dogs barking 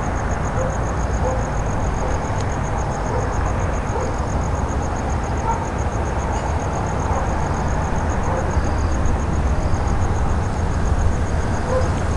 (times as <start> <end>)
0.6 2.3, 3.1 4.2, 8.2 8.5, 11.6 12.0